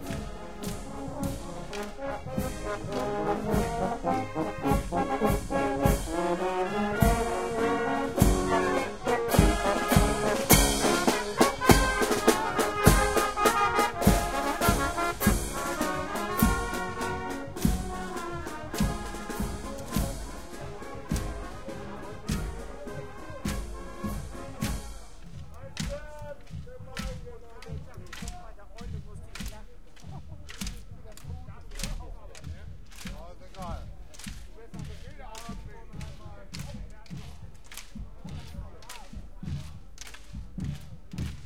0.0s MARCHING MUSIC PARADE 41.4s
0.0s drum 41.4s

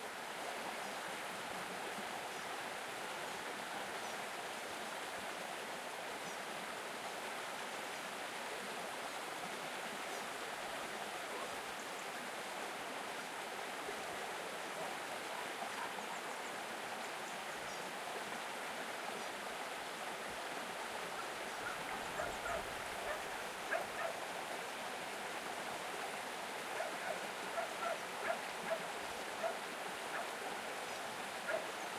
0.0s Brook 31.9s

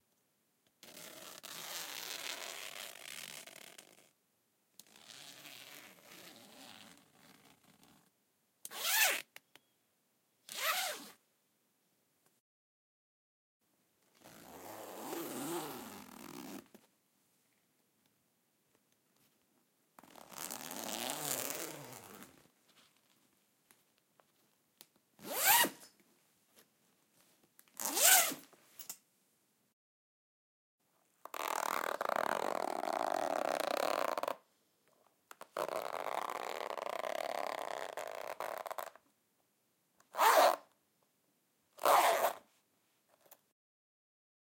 0.8s zip is from a jacket 4.1s
4.8s zip is from a jacket 8.1s
8.7s zip is from a jacket 9.3s
10.5s zip is from a jacket 11.2s
14.2s zip is from a jacket 16.7s
20.0s zip is from a jacket 22.4s
25.2s zip is from a jacket 25.9s
27.8s zip is from a jacket 28.5s
31.3s zip is from a jacket 34.4s
35.5s zip is from a jacket 38.9s
40.1s zip is from a jacket 40.7s
40.2s travel bag 40.5s
41.8s zip is from a jacket 42.5s

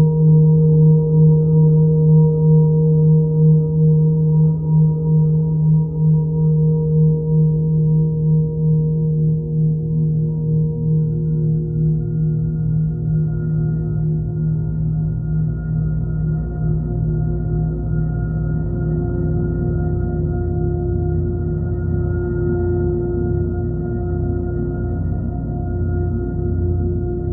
0.0s drone 27.3s

